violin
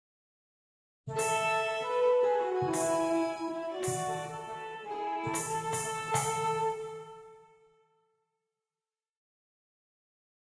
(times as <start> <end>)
1.1 7.8